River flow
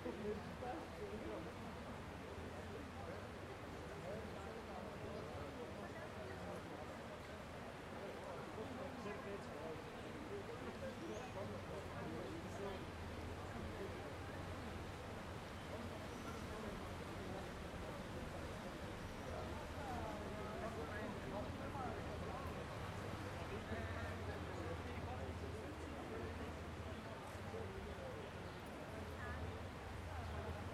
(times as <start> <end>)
11.5 27.9